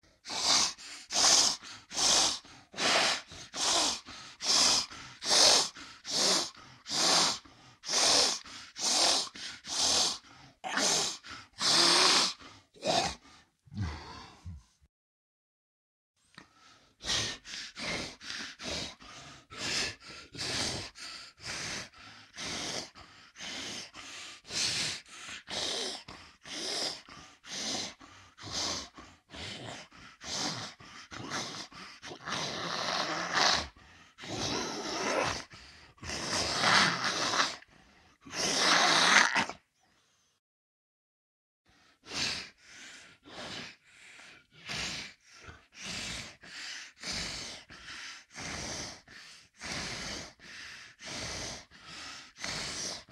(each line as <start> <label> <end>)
0.2 growl 14.8
23.6 growl 39.6